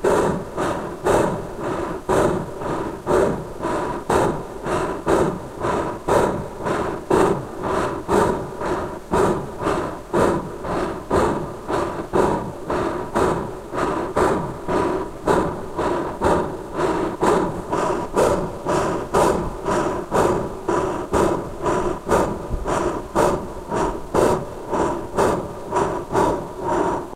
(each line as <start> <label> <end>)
0.0 large animal breathing heavily 27.1